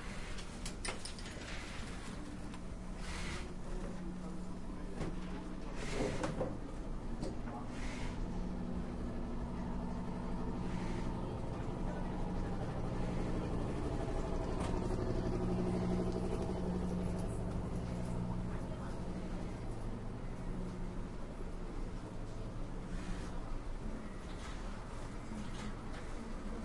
Machines for clothes 0:00.0 - 0:26.6
People talking 0:08.9 - 0:26.6

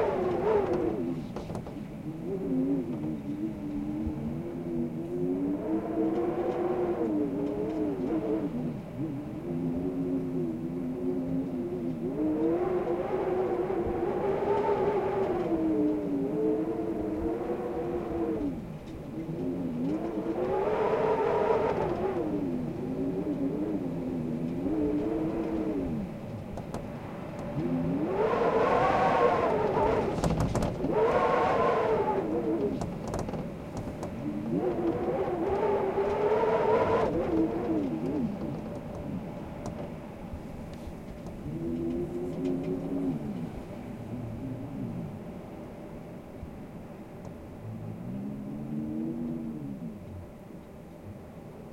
wind was howling against the window 0:00.0 - 0:51.7

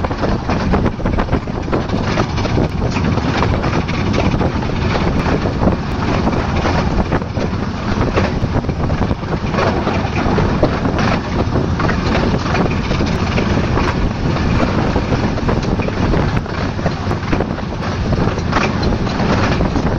small gauge train 0:00.0 - 0:19.9

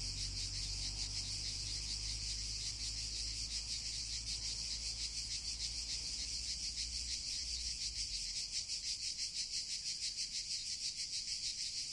truck can be heard driving down an adjacent road 0:00.0 - 0:07.0
crickets are chirping 0:00.0 - 0:11.9

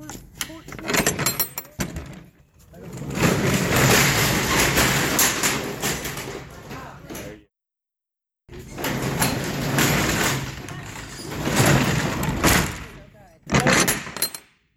semi-truck trailer unlatching, sliding open and close with latch 0:02.9 - 0:07.4
semi-truck trailer unlatching, sliding open and close with latch 0:08.6 - 0:14.4

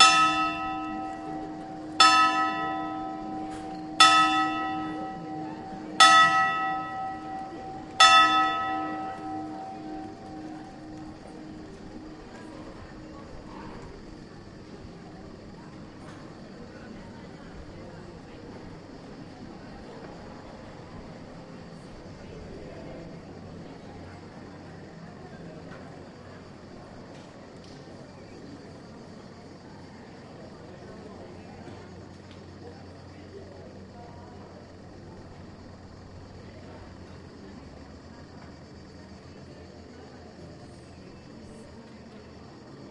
tower clock of the city hall strikes 5 0:00.0 - 0:28.1
activity in the several cafés 0:00.0 - 0:42.9
tourists 0:00.0 - 0:42.9

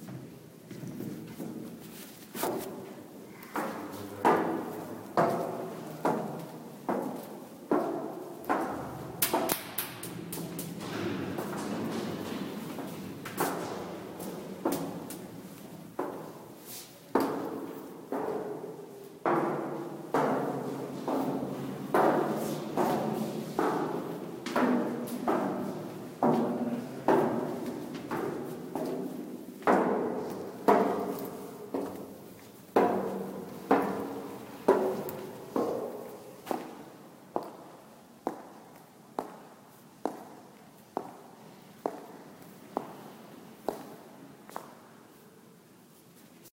footsteps 0:00.0 - 0:45.3
walking on the concrete floor 0:00.0 - 0:46.5
other people 0:03.1 - 0:06.7

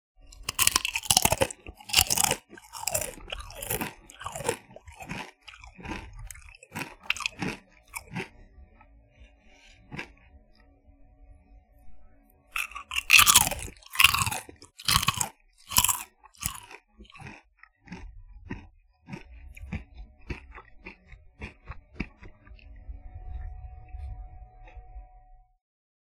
Crunchy Potato Chip Chewing 0:00.4 - 0:08.3
Crunchy Potato Chip Chewing 0:12.6 - 0:22.2

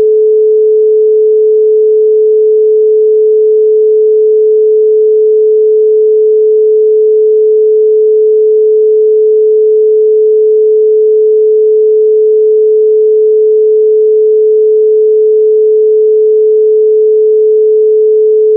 Pure Sine Wave 0:00.0 - 0:18.5

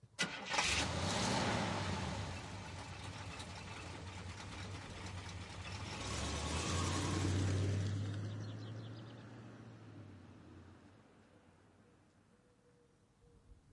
Cadillac Coupe Deville 1966 start and run away 0:00.2 - 0:10.2

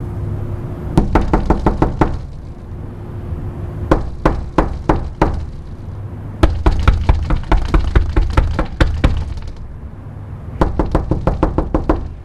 knocking on glass 0:01.0 - 0:02.3
knocking on glass 0:03.9 - 0:05.6
knocking on glass 0:06.4 - 0:09.6
knocking on glass 0:10.6 - 0:12.2

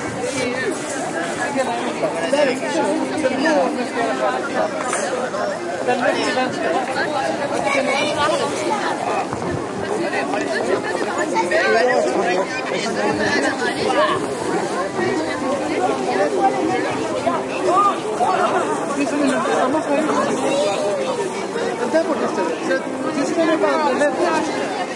wind noise 0:08.0 - 0:10.3

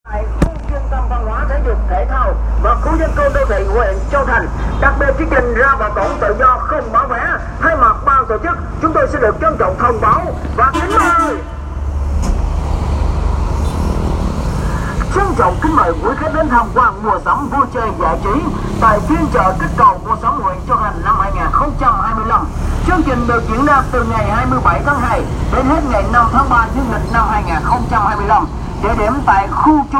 voice 0:00.1 - 0:11.5
voice 0:14.8 - 0:29.9

